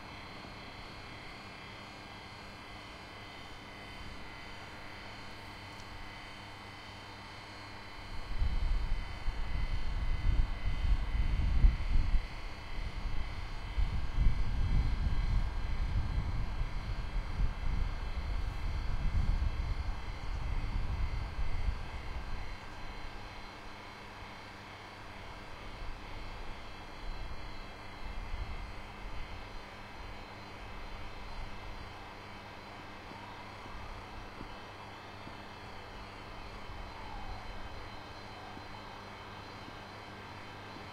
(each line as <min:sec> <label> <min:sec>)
0:00.0 large electricity distribution transformer 0:40.9
0:08.2 wind noise 0:22.6